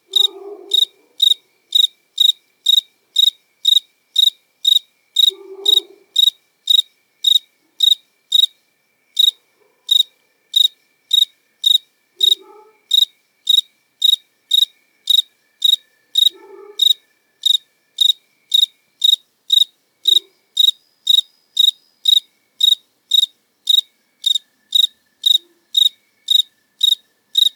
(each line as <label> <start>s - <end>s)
Cricket singing 0.0s - 27.5s
dogs 0.1s - 1.4s
dogs 5.3s - 6.2s
dogs 12.2s - 12.9s
dogs 16.3s - 17.0s